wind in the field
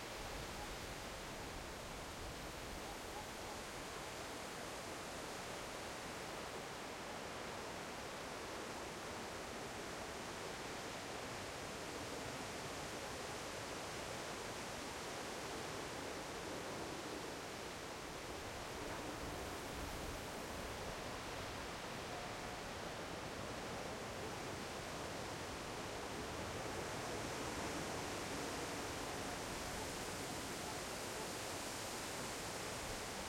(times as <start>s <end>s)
14.2s 33.2s